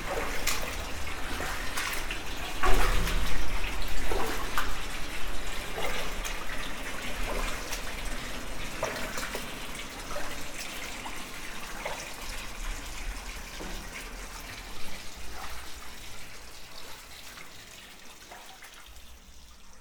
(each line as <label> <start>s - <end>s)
Walking in the sewers 0.0s - 11.1s